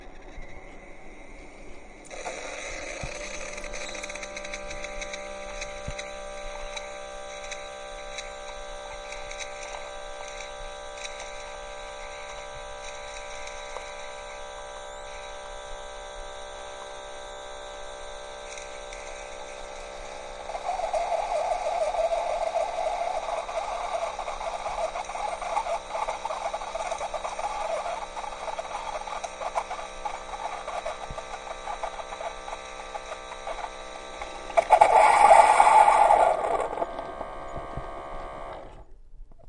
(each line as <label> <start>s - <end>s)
Keurig single serve brewing coffee 20.4s - 38.7s